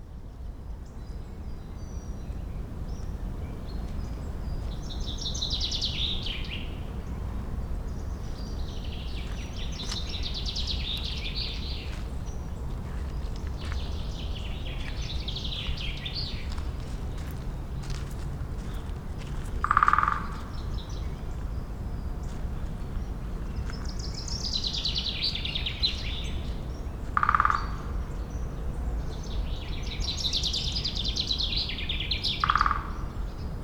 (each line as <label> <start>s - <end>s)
woodpecker drummed above me 18.6s - 21.1s
woodpecker drummed above me 26.8s - 28.4s
woodpecker drummed above me 32.2s - 33.1s